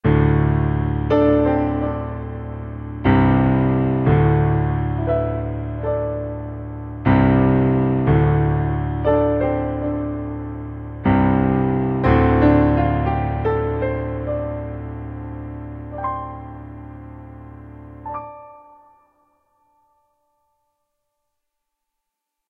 piano intro 0.0 - 20.9

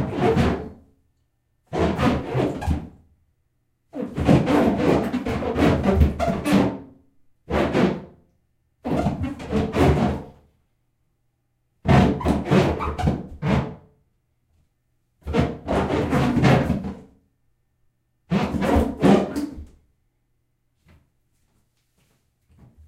Feet rubbing the bottom of the bathtub making squeaks 1.7 - 3.0
Feet rubbing the bottom of the bathtub making squeaks 4.0 - 6.9
Feet rubbing the bottom of the bathtub making squeaks 8.8 - 10.3
Feet rubbing the bottom of the bathtub making squeaks 11.9 - 13.8
Feet rubbing the bottom of the bathtub making squeaks 15.2 - 17.1
Feet rubbing the bottom of the bathtub making squeaks 18.3 - 19.7

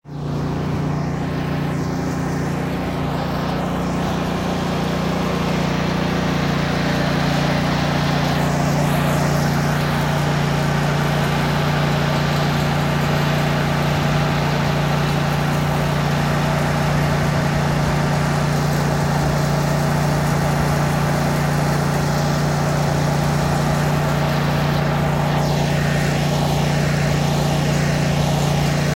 ambient truck 0.0 - 28.9

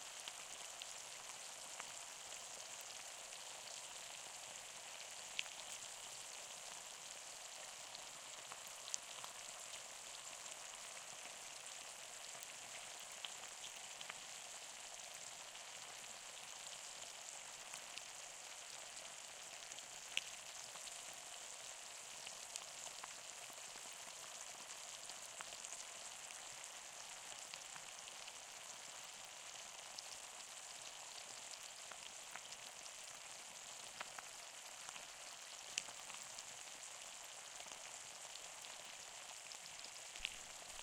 fizz of the drink 38.7 - 40.8

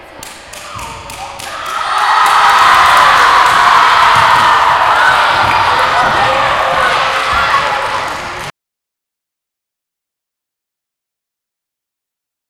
crowd at an assembly 0.4 - 8.5

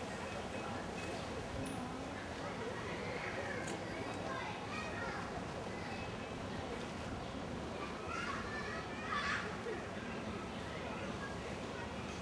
group of lonely tourist walking by 0.0 - 12.2
group of Child's playing, or crying for their mothers 7.8 - 9.8

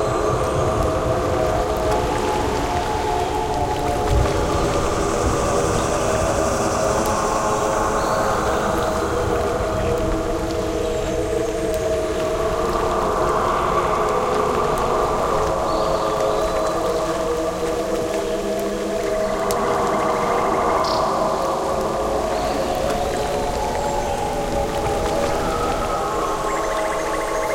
Birds 0.0 - 27.5

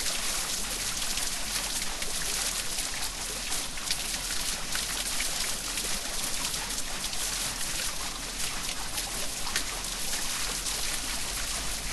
Wheelsound of an original Black Forest water mill 0.0 - 11.9

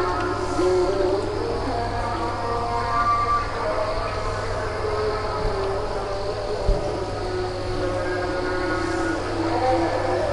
insects 0.0 - 10.3

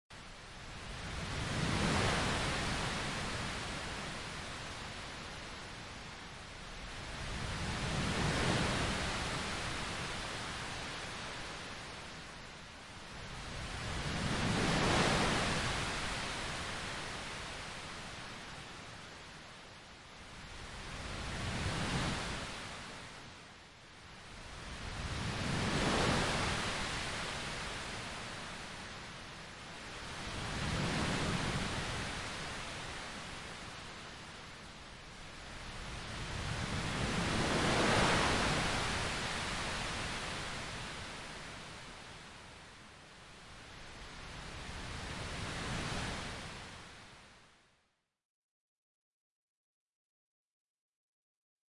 waves 0.1 - 47.9

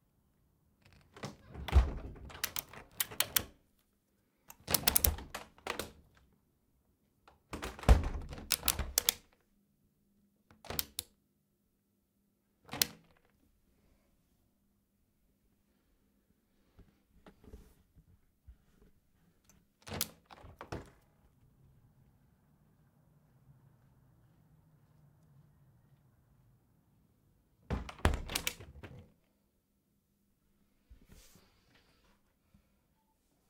plastic window open/close 0.8 - 3.6
plastic window open/close 4.5 - 6.3
plastic window open/close 7.4 - 9.4
plastic window open/close 10.5 - 11.0
plastic window open/close 12.7 - 13.4
plastic window open/close 19.8 - 21.2
plastic window open/close 27.7 - 29.2

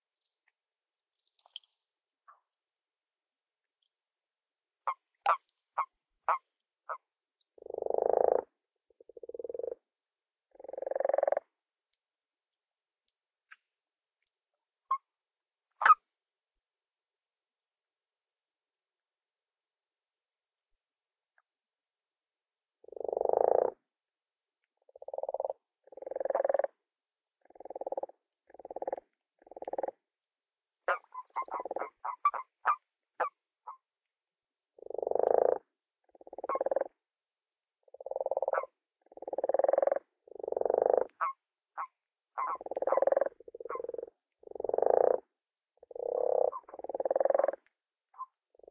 higher pitched qwarks are male toads 4.9 - 7.0
lower pitched croaks 10.5 - 11.5
higher pitched qwarks are male toads 15.8 - 16.0
lower pitched croaks 24.9 - 26.8
lower pitched croaks 27.4 - 30.0
higher pitched qwarks are male toads 30.9 - 33.8
higher pitched qwarks are male toads 34.8 - 36.9
lower pitched croaks 34.8 - 36.9
lower pitched croaks 37.9 - 41.4
higher pitched qwarks are male toads 37.9 - 45.2
lower pitched croaks 42.4 - 45.2
higher pitched qwarks are male toads 45.8 - 47.6
lower pitched croaks 45.8 - 47.7

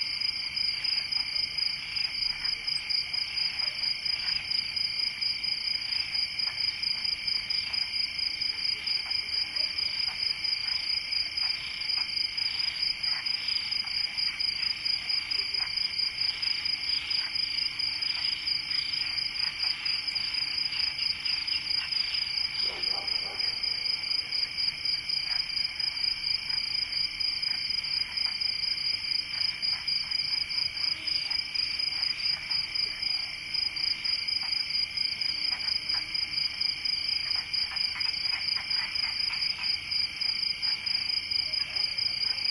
cricket chorus 0.0 - 42.5
frogs 0.0 - 42.5
dog barking 22.6 - 24.0

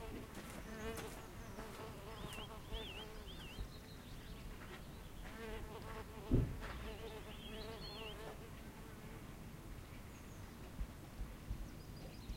walking 0.0 - 2.6
bees 0.0 - 3.6
birdsong 0.0 - 8.6
bees 5.2 - 9.1
birdsong 9.8 - 12.3

